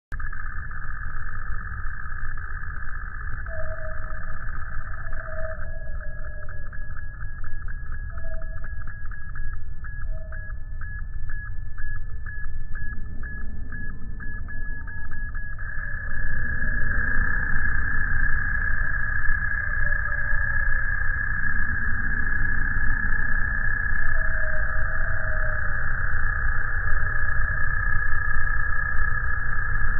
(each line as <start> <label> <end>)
0.1 beeping 29.9
15.7 CROWS 26.6